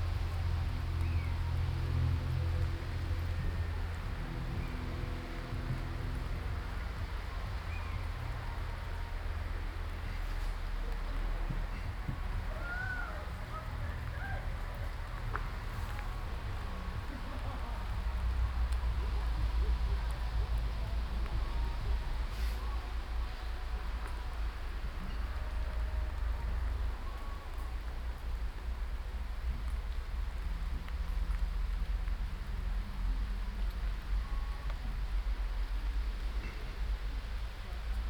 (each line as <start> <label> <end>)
0.0 people 28.0
0.0 rain 38.0